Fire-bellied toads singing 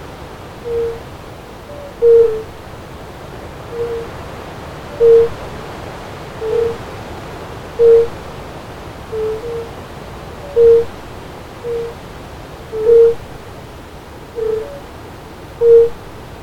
0:00.6 0:01.1, 0:01.7 0:02.5, 0:03.7 0:04.1, 0:05.0 0:05.4, 0:06.4 0:06.8, 0:07.8 0:08.2, 0:09.1 0:09.8, 0:10.4 0:11.0, 0:11.6 0:12.0, 0:12.7 0:13.3, 0:14.4 0:14.8, 0:15.6 0:16.0

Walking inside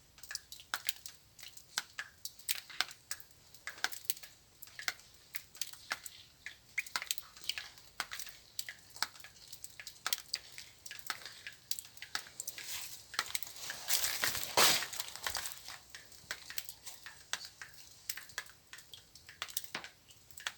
0:07.0 0:19.4

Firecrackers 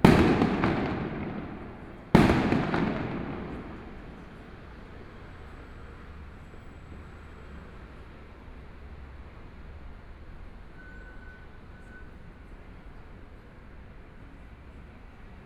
0:00.0 0:05.8

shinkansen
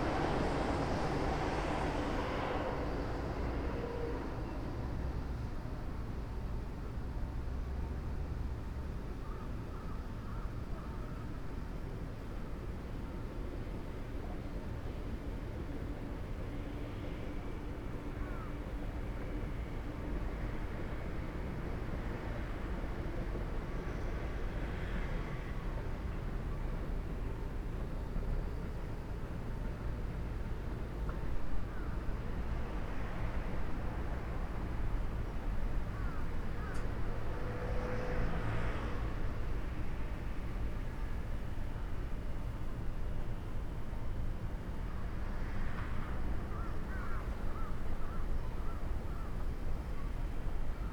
0:00.0 0:06.6

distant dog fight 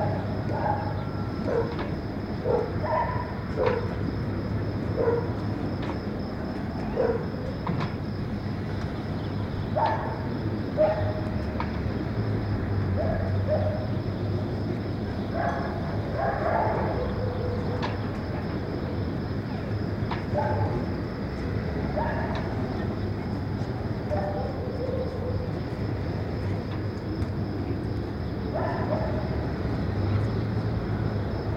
0:00.0 0:04.0, 0:04.8 0:08.0, 0:09.7 0:11.7, 0:15.4 0:18.5, 0:20.1 0:21.1, 0:21.7 0:22.8, 0:24.0 0:26.8, 0:28.5 0:30.1

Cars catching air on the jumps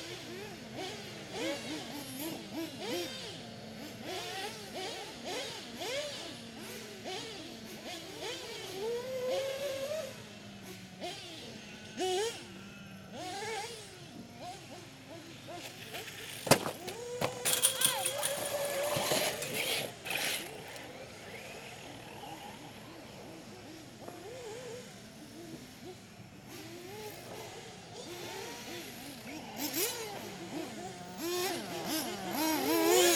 0:15.7 0:20.9

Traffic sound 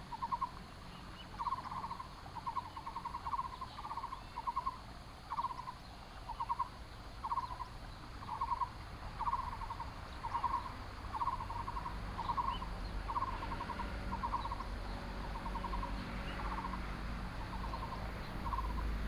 0:08.9 0:19.0

